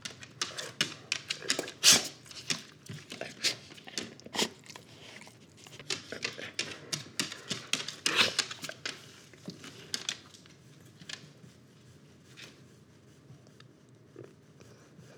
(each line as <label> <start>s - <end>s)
Dog Snorts 1.4s - 2.3s
Dog Snorts 3.2s - 8.8s